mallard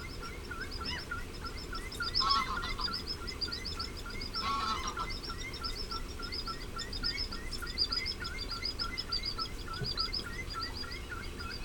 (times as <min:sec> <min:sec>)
0:04.4 0:05.1